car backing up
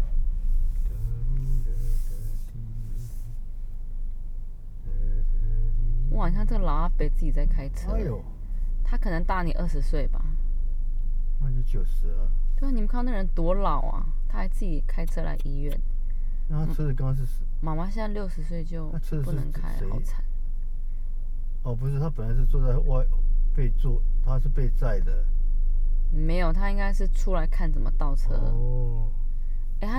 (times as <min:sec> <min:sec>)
0:00.0 0:12.0